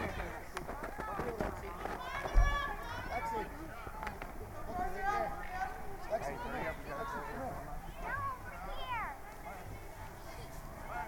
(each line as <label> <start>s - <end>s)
children and their parents hunt for plastic eggs 0.0s - 11.0s
Music 1.4s - 11.0s